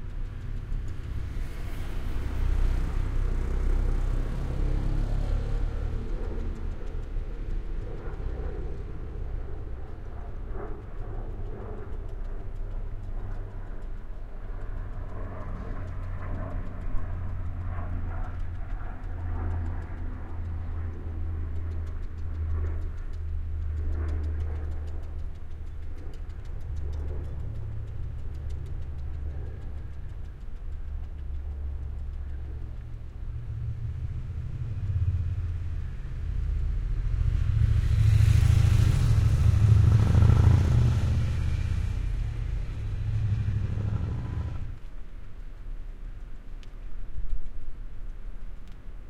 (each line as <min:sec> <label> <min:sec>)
0:00.0 Wind 0:49.0